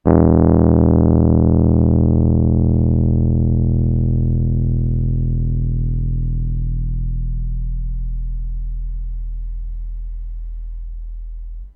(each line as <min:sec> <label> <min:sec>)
0:00.0 Rhodes bass E 0:11.7